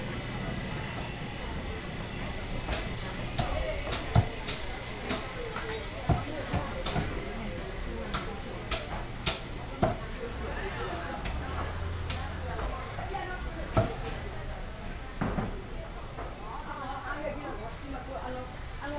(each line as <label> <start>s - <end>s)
Walking in the traditional market 0.0s - 18.9s